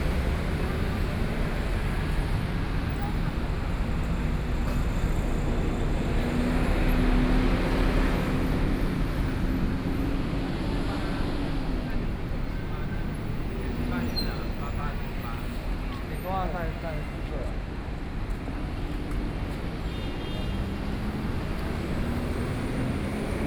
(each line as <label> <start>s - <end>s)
Traffic Sound 0.0s - 23.4s
Various shops voices 7.4s - 18.8s